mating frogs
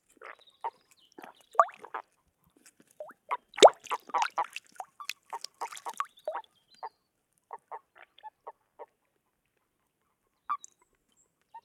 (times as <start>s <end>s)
0.1s 2.1s, 3.0s 6.5s